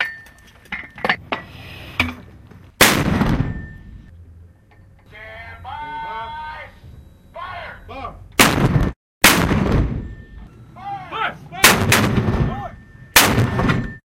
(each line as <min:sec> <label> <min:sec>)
0:00.0 clang 0:02.2
0:00.0 Heavy Mortar Artillery System 0:05.2
0:03.4 clang 0:04.1
0:05.1 voice 0:06.8
0:07.4 voice 0:08.2
0:08.3 Heavy Mortar Artillery System 0:14.0
0:10.0 clang 0:10.5
0:12.4 voice 0:12.8
0:12.7 clang 0:14.0